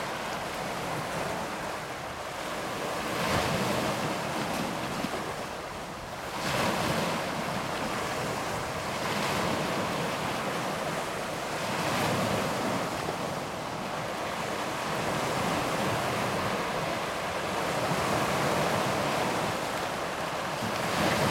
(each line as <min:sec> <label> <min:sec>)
0:00.0 Sea Waves On a Rocky Shore 0:21.3